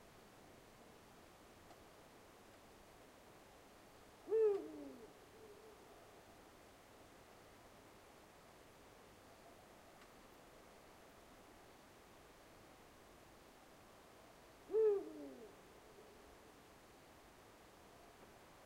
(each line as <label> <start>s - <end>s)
european Eagle-Owl 4.2s - 5.9s
european Eagle-Owl 14.7s - 16.3s